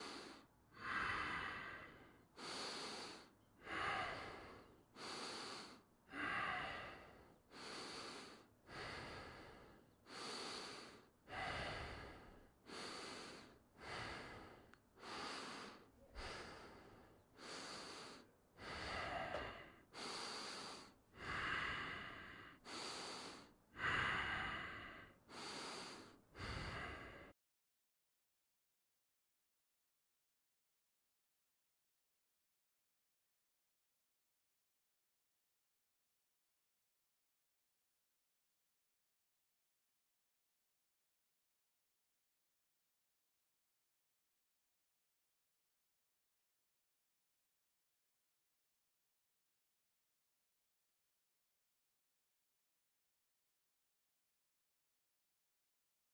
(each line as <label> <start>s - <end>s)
heavy breathing 0.0s - 27.4s